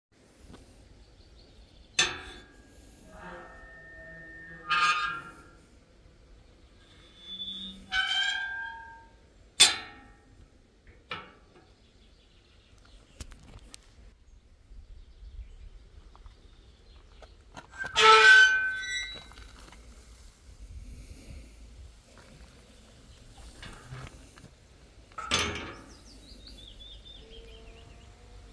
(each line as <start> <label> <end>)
1.5 Unlocking, opening, and closing an old rusty gate 11.9
17.5 Unlocking, opening, and closing an old rusty gate 28.5